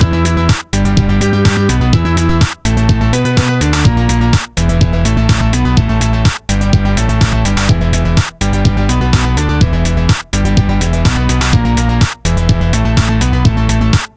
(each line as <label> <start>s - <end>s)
bassline 0.0s - 14.1s
drums 0.0s - 14.1s